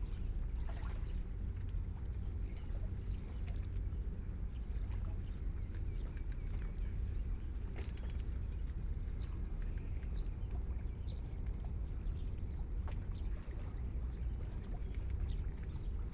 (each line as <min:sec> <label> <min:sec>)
0:00.0 Yacht 0:16.1